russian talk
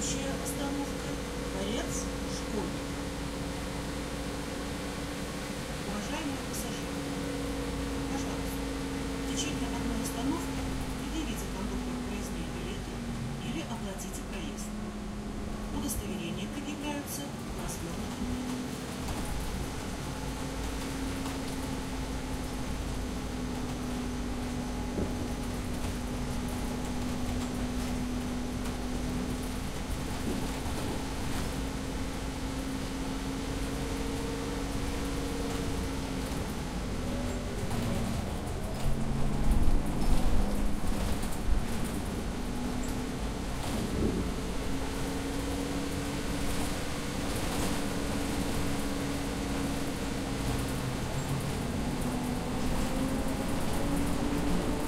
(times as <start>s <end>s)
0.0s 2.8s, 5.9s 6.9s, 9.3s 14.8s, 15.8s 18.3s